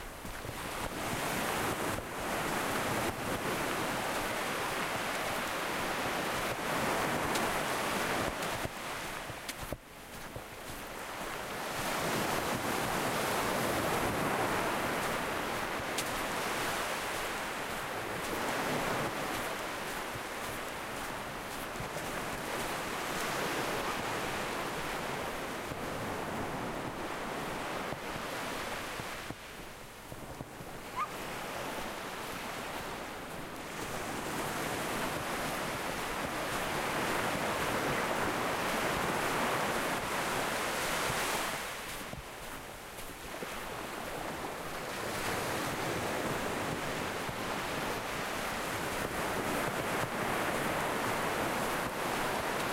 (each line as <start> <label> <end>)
0.0 waves 52.7
8.4 walking 11.0
30.9 dogs barking 31.2